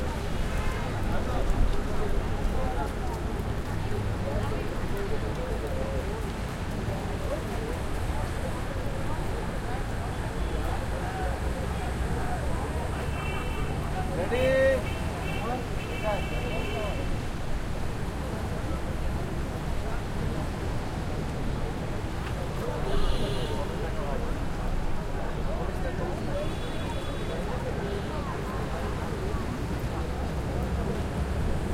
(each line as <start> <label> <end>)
0.0 nearby heavy traffic2 17.4
0.0 pedestrians footsteps 31.7